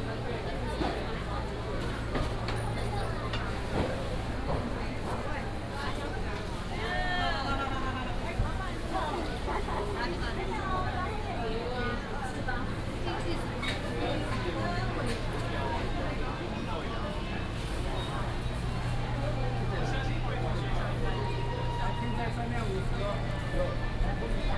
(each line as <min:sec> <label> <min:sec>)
0:00.0 Walking through the Traditional Taiwanese Markets 0:24.5